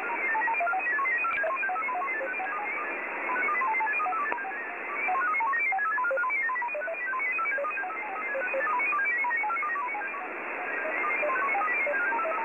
0.0s ROS modem signals 12.4s
0.0s static 12.4s

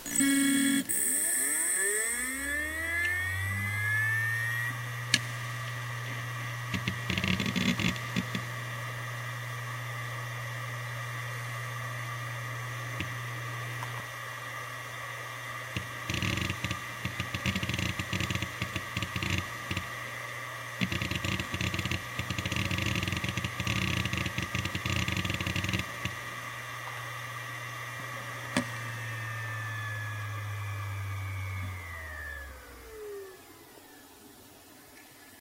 6.6s hdd 8.5s
15.7s hdd 20.1s
15.8s rattle 19.9s
20.8s hdd 26.5s
20.8s rattle 26.3s

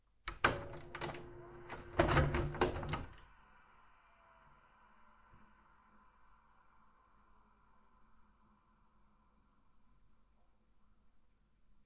0.3s EJECTING VHS 3.2s

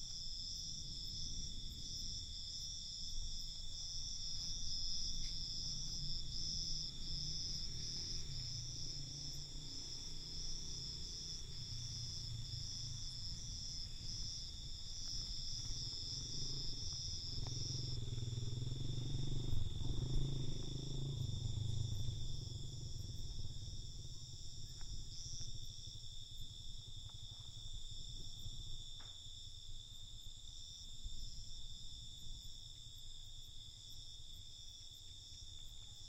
0.0s cicadas 36.0s
0.0s crickets 36.0s
0.0s wind 36.0s
5.8s motorbike passing 24.5s

